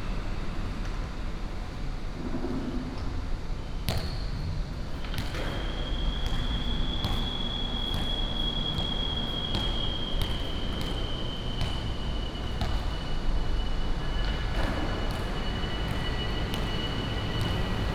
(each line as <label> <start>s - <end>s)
Traffic sound 5.7s - 17.9s